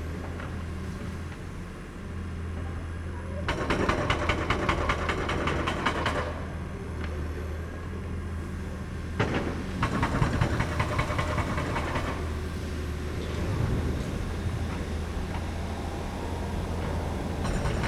excavator with mounted jackhammer demolishes the foundation 2.6 - 8.1
excavator with mounted jackhammer demolishes the foundation 8.7 - 17.8

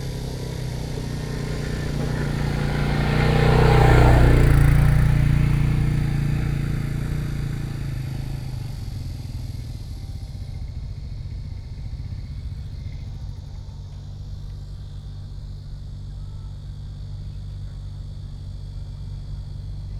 Traffic Sound 0.0 - 14.3
Cicadas sound 0.0 - 19.9

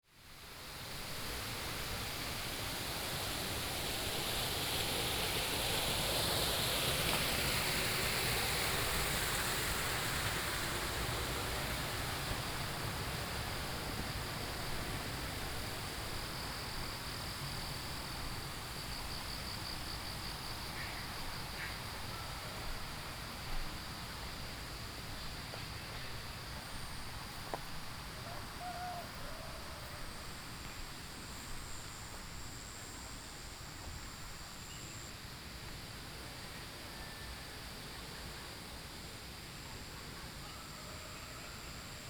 water streams 0.2 - 36.7
Insect sounds 0.6 - 42.0

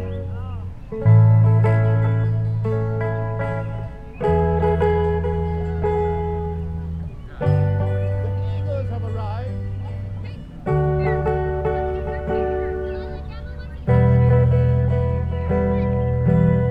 Forgetful Busker 0.0 - 16.7
crowd 3.8 - 16.7

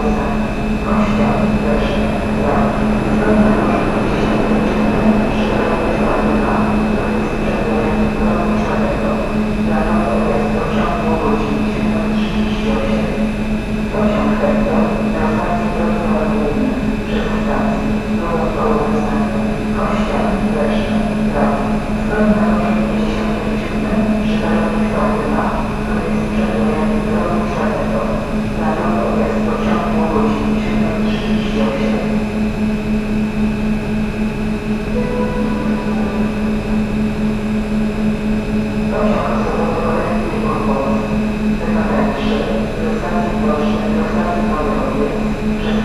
announcements about trains on different platforms 0.0 - 45.8
local train idling 0.0 - 45.8

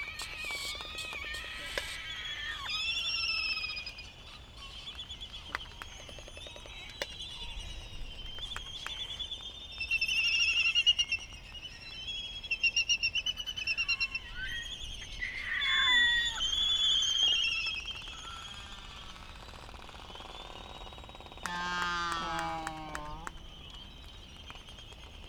Laysan albatross dancing 0.0 - 7.3
calls from bonin petrels 0.0 - 7.5
calls from bonin petrels 13.4 - 24.2
Laysan albatross dancing 20.4 - 25.2

